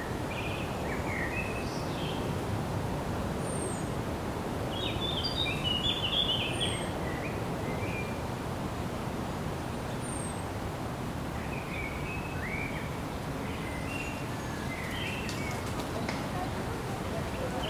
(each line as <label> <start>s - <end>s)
city 0.0s - 17.6s
river 0.0s - 17.6s
road 0.0s - 17.6s
birds 11.3s - 17.6s